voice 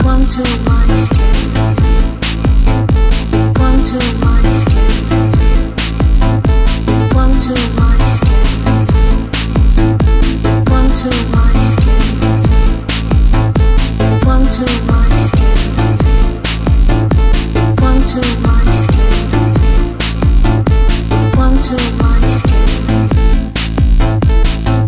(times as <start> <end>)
0.0 1.8, 3.6 5.3, 7.1 8.9, 10.7 12.4, 14.2 16.0, 17.8 19.6, 21.3 22.9